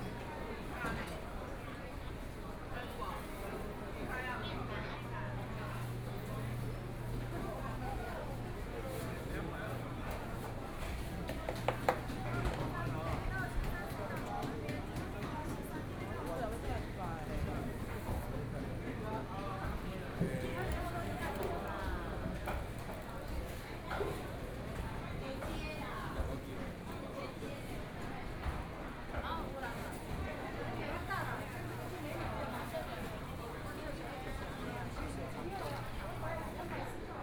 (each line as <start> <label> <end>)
0.0 Walking through the market inside 37.2